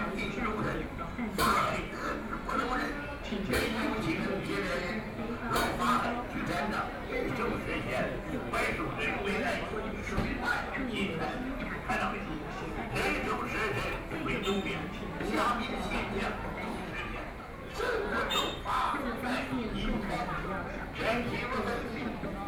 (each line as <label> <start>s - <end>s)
Very large number of tourists 0.0s - 22.4s